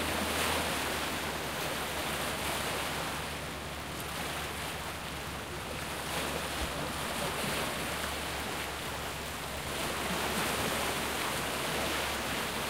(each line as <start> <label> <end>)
0.0 waves on the lake 12.6